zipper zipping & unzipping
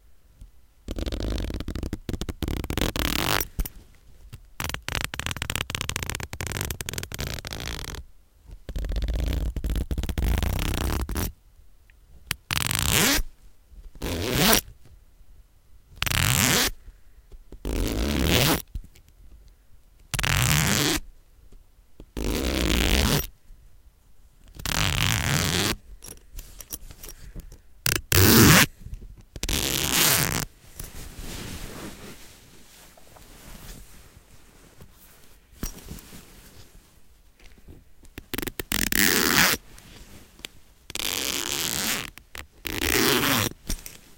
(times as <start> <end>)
0.9 3.5, 4.6 8.0, 8.8 11.3, 12.5 13.3, 14.0 14.6, 16.0 16.8, 17.6 18.6, 20.2 21.0, 22.2 23.3, 24.6 25.8, 27.9 28.7, 29.4 30.5, 38.3 39.6, 40.9 43.6